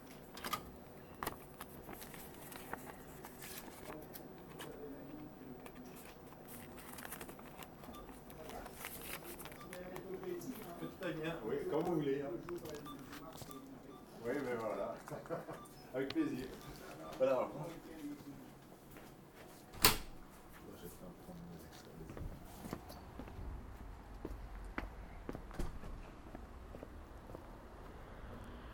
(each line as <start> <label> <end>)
0.4 bank extracts 15.0